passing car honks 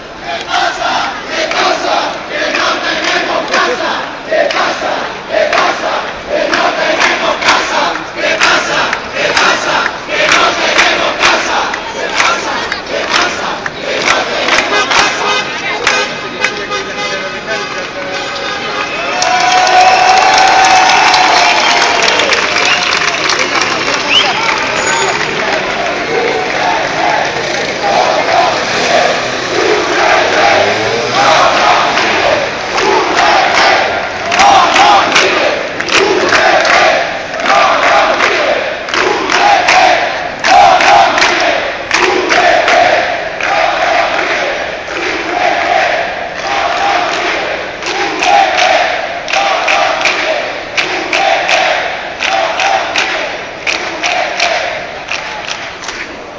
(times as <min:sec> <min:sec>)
0:14.6 0:19.3